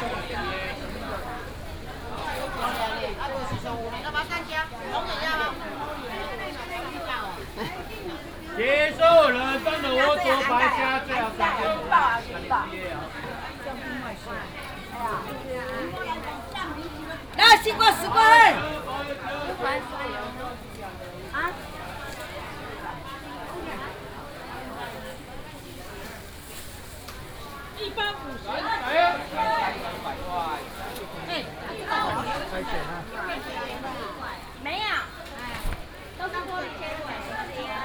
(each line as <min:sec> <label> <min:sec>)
0:00.0 vendors peddling 0:26.2